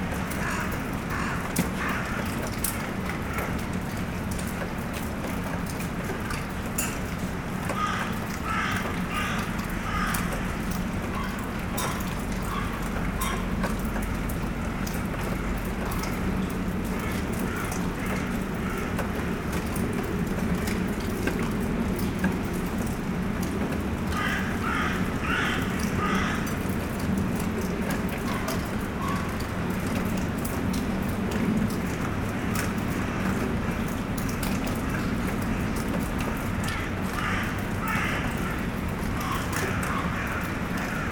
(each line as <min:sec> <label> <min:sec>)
0:00.0 small rain 0:41.1
0:00.4 Crows are shouting 0:02.3
0:07.7 Crows are shouting 0:13.5
0:24.1 Crows are shouting 0:26.6
0:36.6 Crows are shouting 0:41.1